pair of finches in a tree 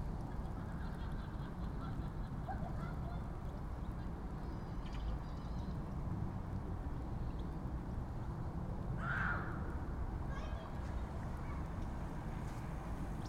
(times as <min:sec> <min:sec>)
0:09.0 0:09.6